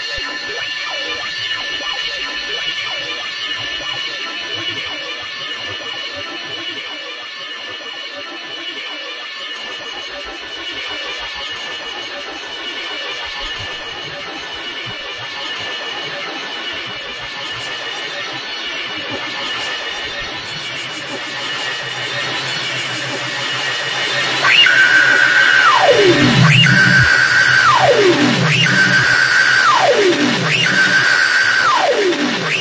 metallic noise drone 19.0 - 32.6
metallic scream 20.5 - 32.6

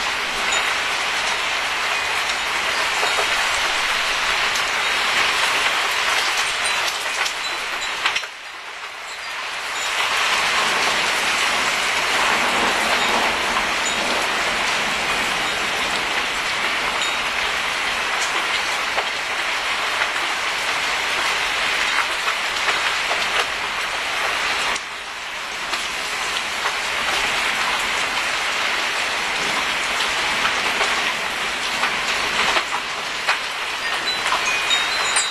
rain 0.0 - 35.3
wind 0.0 - 35.3
thunderstorm 10.3 - 17.6

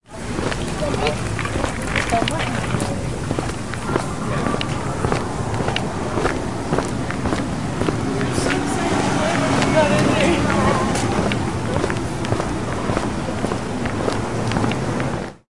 footsteps 0.1 - 15.4

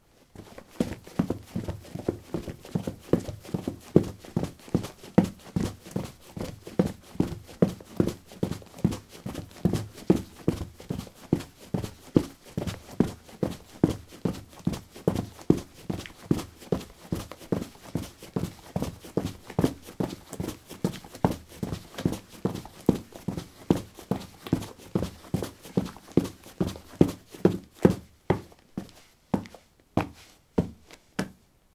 Running on concrete 0.4 - 30.8

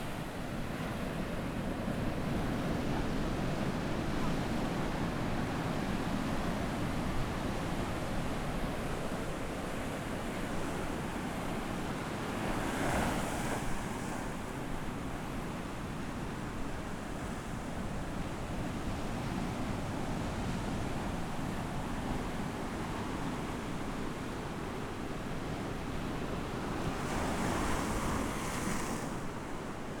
Wind 0.0 - 30.0

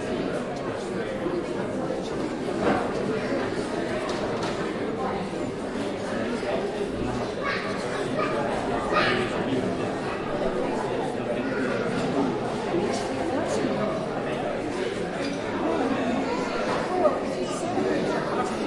children 7.0 - 13.6
babble 7.0 - 12.2
children 15.2 - 18.6

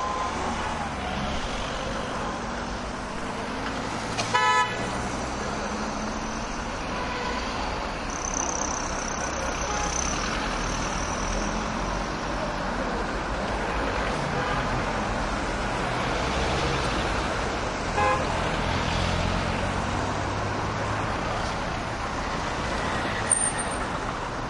traffic heavy 0.0 - 24.4
loud horn honks 4.2 - 4.9
loud horn honks 18.0 - 18.3

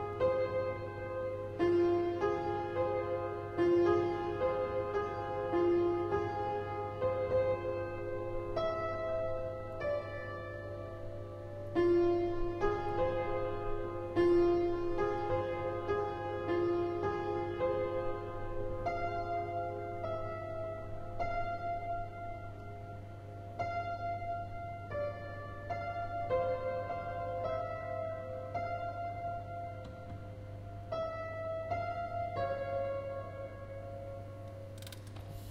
homeless man playing some piano 0.0 - 34.4

